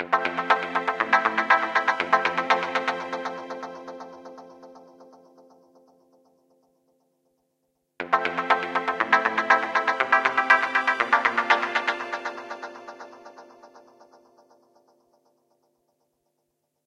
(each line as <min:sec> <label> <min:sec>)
0:00.0 Guitar 0:06.6
0:08.0 Guitar 0:15.1